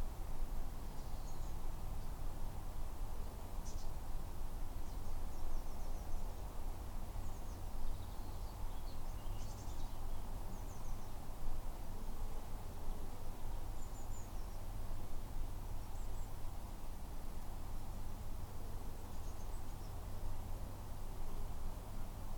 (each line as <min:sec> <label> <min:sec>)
0:00.0 Quiet birds 0:02.3
0:03.1 Quiet birds 0:22.3